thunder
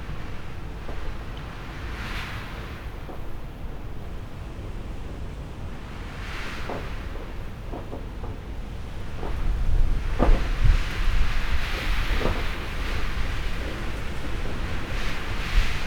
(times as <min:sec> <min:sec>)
0:06.6 0:15.8